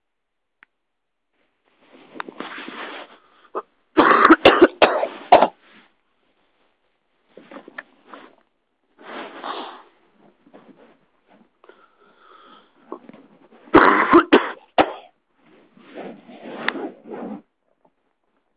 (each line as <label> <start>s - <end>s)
coughing in bed 4.0s - 5.6s
coughing in bed 13.7s - 15.2s